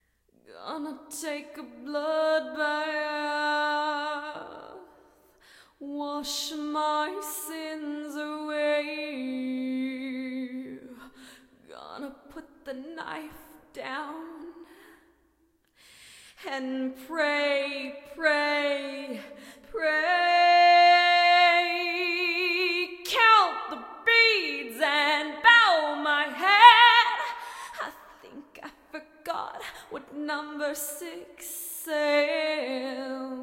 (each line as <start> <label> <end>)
0.4 female vocals 15.1
16.2 female vocals 33.4